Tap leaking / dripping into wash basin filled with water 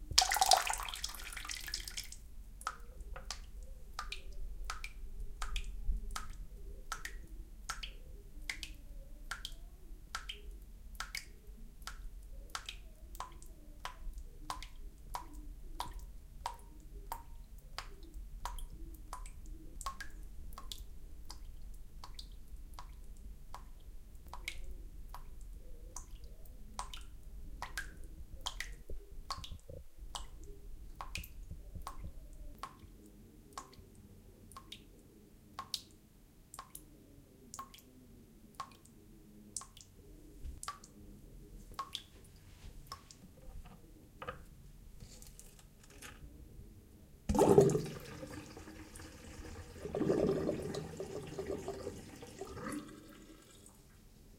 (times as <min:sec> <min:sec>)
0:00.1 0:25.4, 0:26.0 0:33.9, 0:47.3 0:54.0